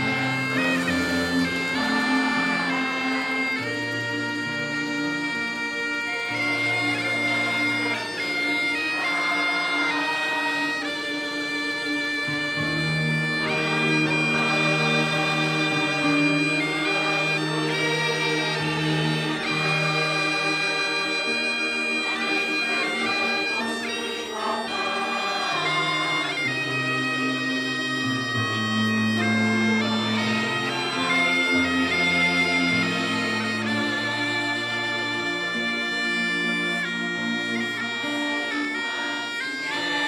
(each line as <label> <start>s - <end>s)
group of children, locals, and town officials sing 0.0s - 40.0s